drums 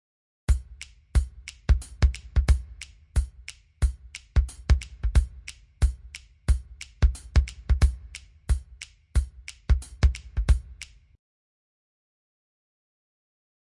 0.5 11.0

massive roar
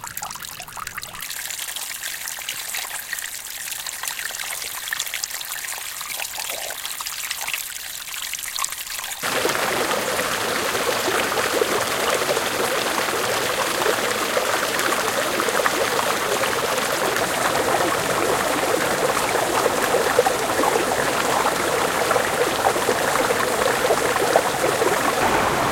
25.2 25.7

